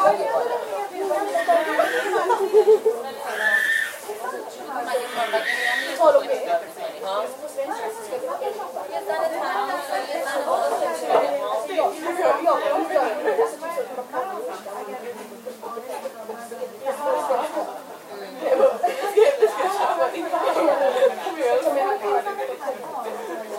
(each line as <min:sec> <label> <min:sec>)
0:01.2 laughing 0:04.0
0:04.7 laughing 0:06.0